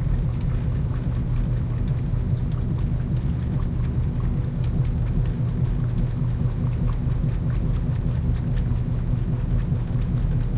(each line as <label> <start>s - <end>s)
laundromat washers washing machines 0.0s - 10.5s